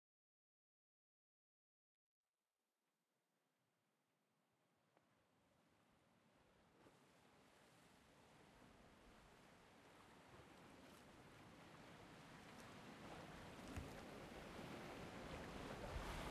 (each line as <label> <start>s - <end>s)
boat 4.1s - 16.3s
wind 4.9s - 16.3s
waves crashing on the rocks 9.1s - 16.3s